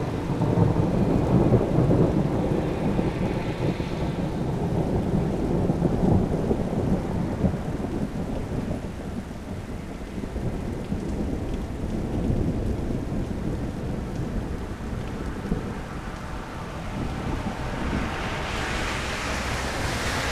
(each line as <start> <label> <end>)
0.0 distant and semi-loud thunder 20.3
0.0 rain 20.3
16.7 cars driving by 20.3